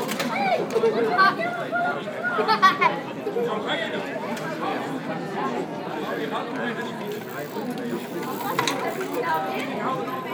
Lively discussions 3.8 - 10.3

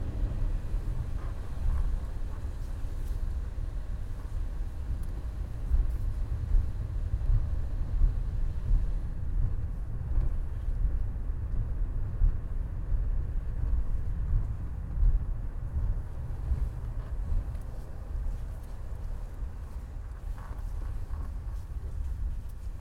Traffic 0.0 - 22.8

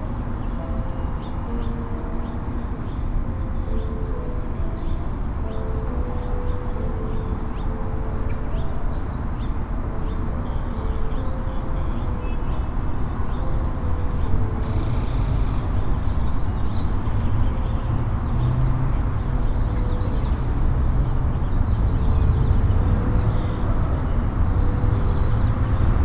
vehicles on the street 0.0 - 26.0

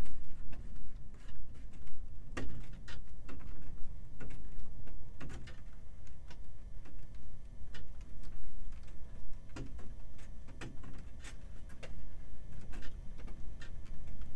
windy day 0.0 - 14.3

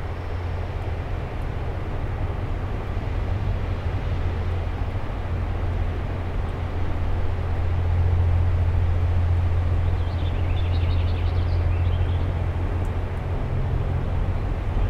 passing trains 0.0 - 14.8

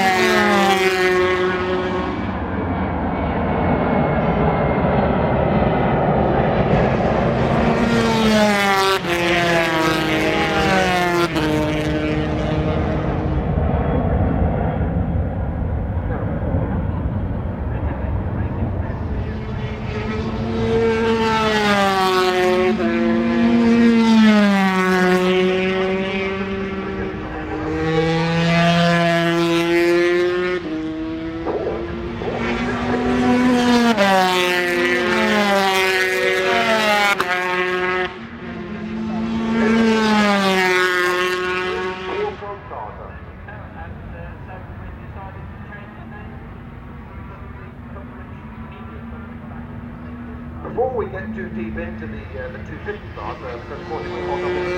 commentary 31.5 - 34.3
commentary 41.6 - 46.5
commentary 50.6 - 54.7

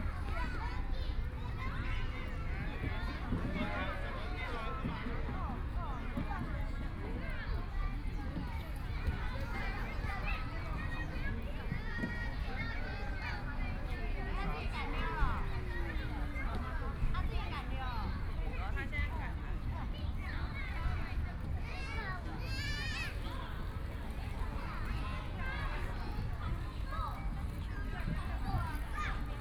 Kids play area 0.0 - 29.4

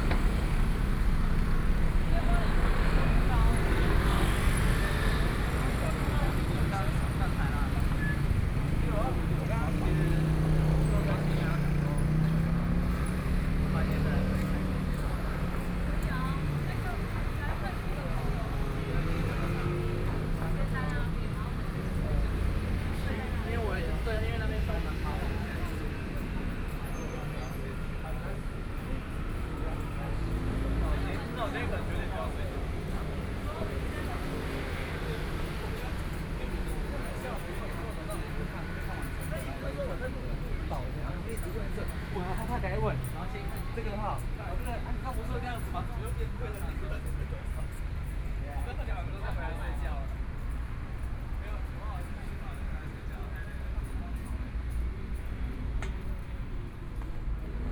Tourists 0.0 - 57.7
Various shops voices 0.0 - 57.7

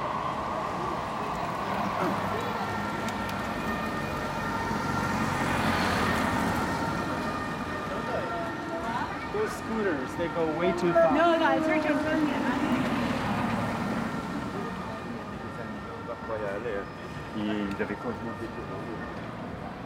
trams 0.0 - 4.4
people passing by 0.0 - 19.8
police siren 0.0 - 19.8

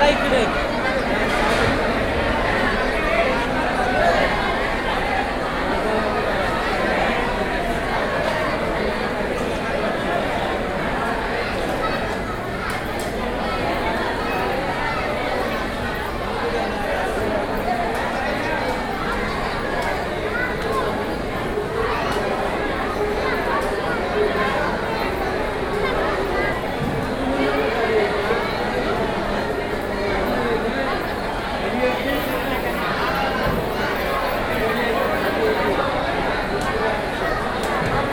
Queue in the hall 0.0 - 38.1
crowd 0.0 - 38.1

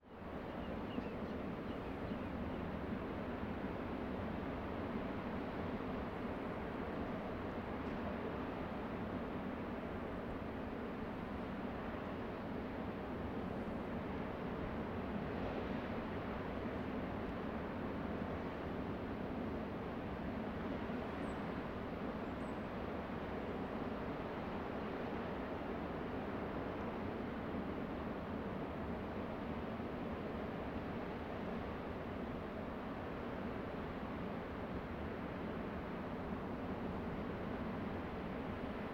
LARGE OCEAN SHORE FAR 0.0 - 38.9

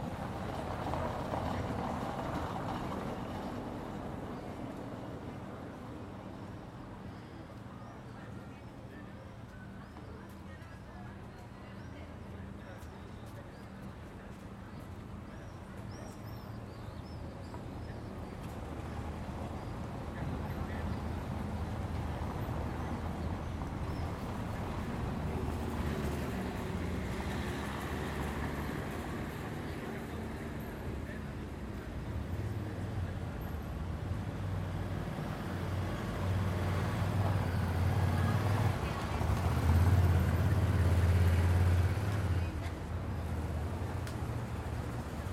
Mild traffic 0.0 - 45.3
people passing by, talking 0.0 - 45.3

